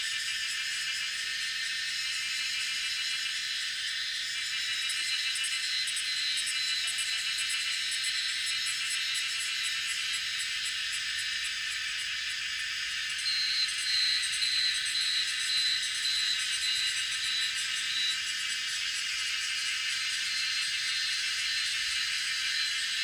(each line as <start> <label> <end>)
0.1 Cicada sounds 23.0